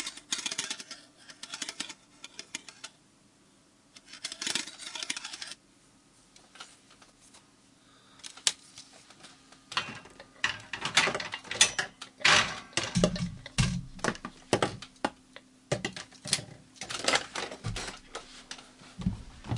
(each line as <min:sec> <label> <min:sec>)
0:04.0 scratching 0:05.6
0:09.8 rattling 0:14.9